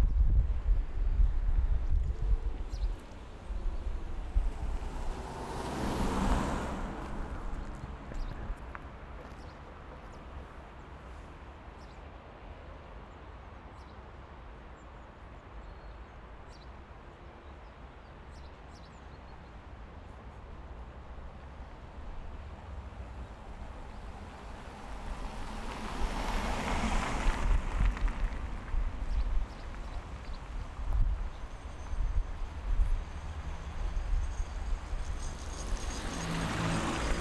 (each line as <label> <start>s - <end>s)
tram 0.0s - 11.6s
traffic 0.0s - 13.4s
traffic 14.3s - 37.2s
tram 19.3s - 37.2s